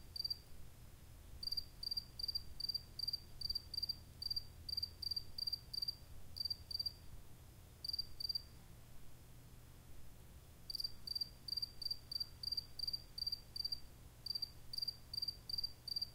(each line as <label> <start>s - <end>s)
single cricket chirping 0.1s - 0.4s
single cricket chirping 1.4s - 7.0s
single cricket chirping 7.8s - 8.5s
single cricket chirping 10.7s - 16.1s